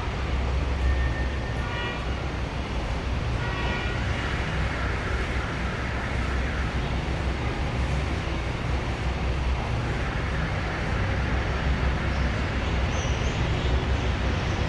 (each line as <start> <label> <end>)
0.0 several cars 14.6
3.4 horns 5.2